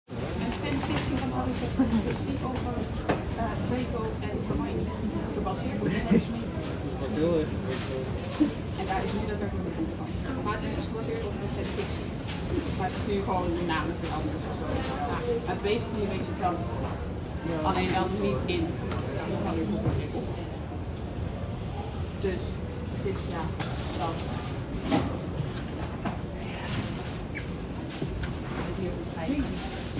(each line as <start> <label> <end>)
0.1 Dutch walla in a busy bookshop 29.9